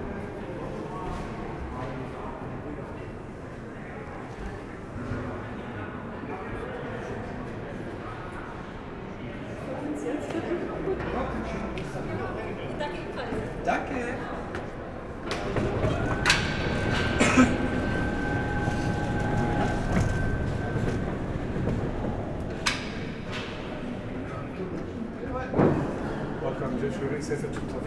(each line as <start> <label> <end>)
11.7 crossing all the tunnel by feet 25.9
15.2 lifts 23.4